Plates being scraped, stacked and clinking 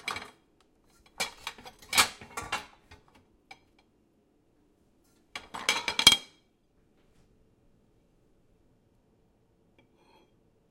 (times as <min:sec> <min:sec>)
0:00.0 0:03.0